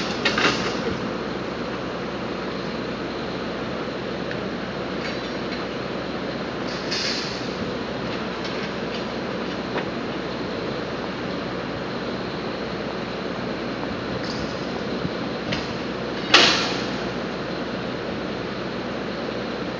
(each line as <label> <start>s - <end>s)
machines 0.0s - 19.7s